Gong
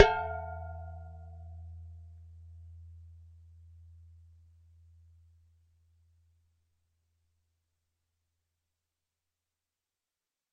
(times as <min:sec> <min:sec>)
0:00.0 0:02.1